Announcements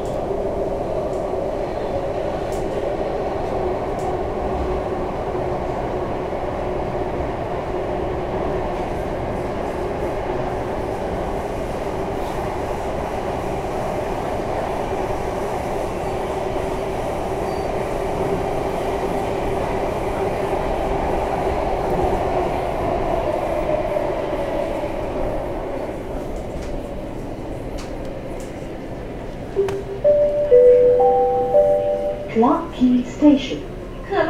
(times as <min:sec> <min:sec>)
0:29.6 0:34.2